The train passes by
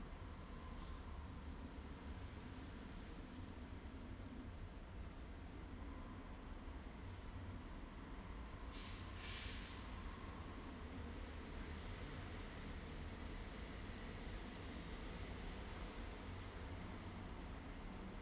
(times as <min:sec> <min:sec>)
0:07.1 0:18.2